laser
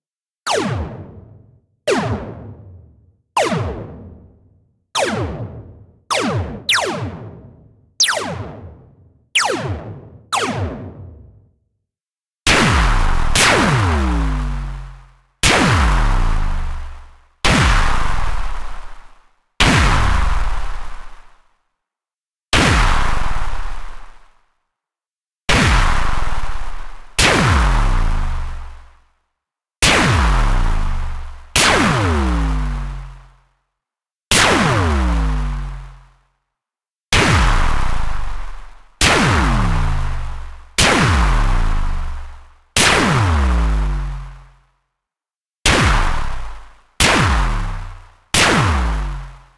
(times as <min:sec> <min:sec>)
0:08.0 0:08.7, 0:12.5 0:19.1, 0:45.7 0:49.4